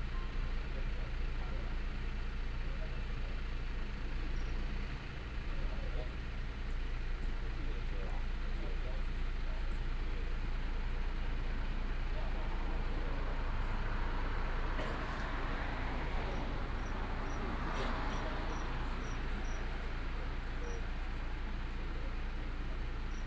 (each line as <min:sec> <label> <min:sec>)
0:00.1 heavy motorcycle enthusiasts gather here to chat 0:23.2
0:00.5 traffic sound 0:08.4
0:09.1 traffic sound 0:23.2